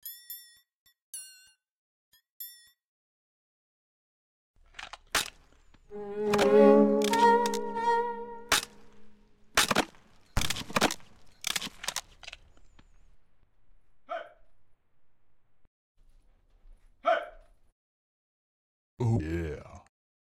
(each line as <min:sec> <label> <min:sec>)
0:04.6 crunch 0:05.9
0:05.9 violin 0:09.4
0:09.5 crunch 0:13.4